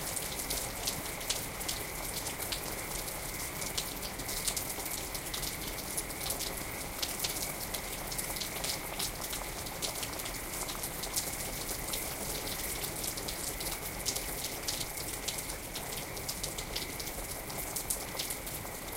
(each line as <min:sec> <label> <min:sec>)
0:00.0 spring rain falls 0:18.9